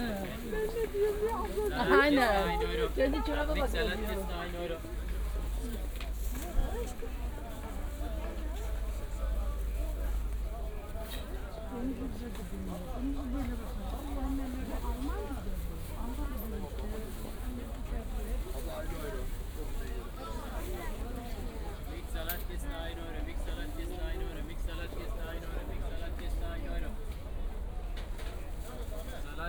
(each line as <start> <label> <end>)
0.0 market ambience 29.4